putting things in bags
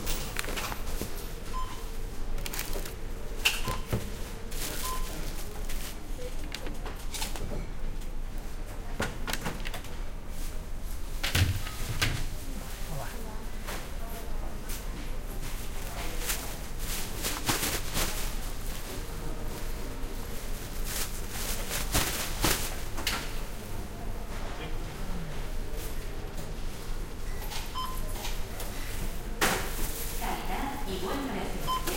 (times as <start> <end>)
0.0 7.5, 15.4 23.1